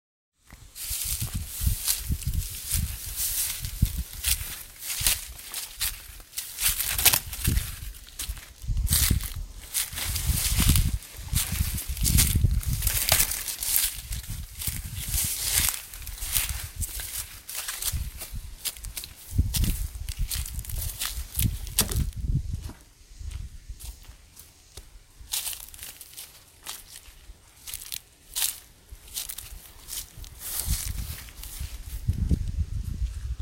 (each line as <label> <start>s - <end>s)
grass rustling 0.5s - 33.4s
wind in the mic 0.5s - 24.2s
sticks crunching underfoot 0.7s - 22.8s
leaves and foliage being pushed aside 0.8s - 19.1s
sticks crunching underfoot 25.3s - 31.8s
wind in the mic 28.4s - 33.4s